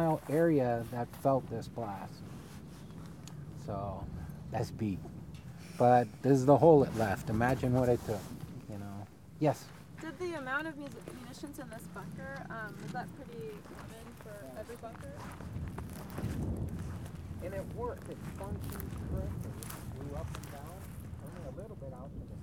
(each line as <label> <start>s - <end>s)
FWS Agent Alan Anderson explains 0.0s - 2.4s
FWS Agent Alan Anderson explains 3.5s - 9.7s
FWS Agent Alan Anderson explains 18.7s - 22.4s